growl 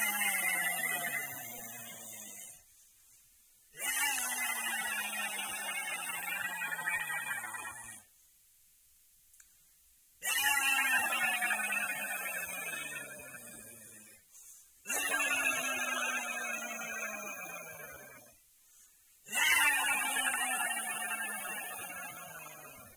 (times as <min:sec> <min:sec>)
0:00.0 0:02.7, 0:03.8 0:08.1, 0:10.2 0:14.3, 0:14.9 0:18.4, 0:19.3 0:22.9